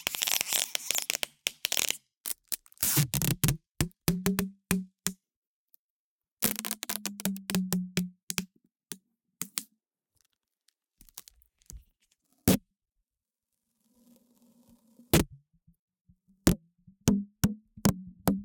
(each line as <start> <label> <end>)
0.0 duct tape tension pulling the tape 3.7
6.4 duct tape tension pulling the tape 7.6